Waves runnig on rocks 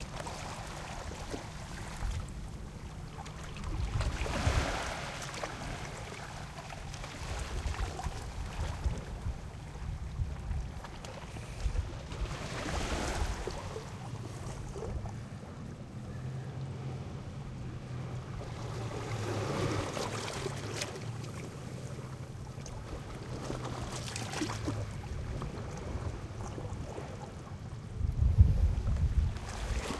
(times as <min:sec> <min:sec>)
0:00.0 0:10.2